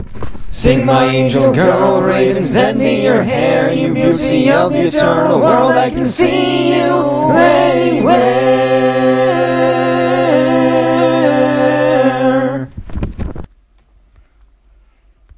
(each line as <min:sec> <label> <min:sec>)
0:00.4 poetry-stanza-sung 0:12.8